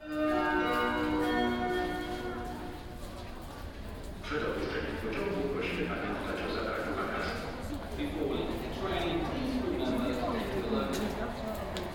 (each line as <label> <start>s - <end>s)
Metro ride from Służew to Wilanowska station 0.0s - 11.9s